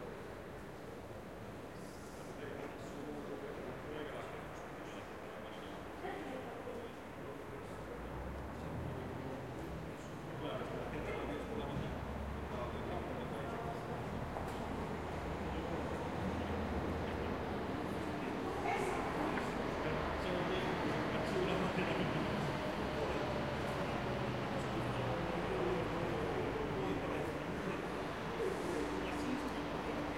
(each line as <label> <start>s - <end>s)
people 1.7s - 30.1s
bus 7.5s - 30.1s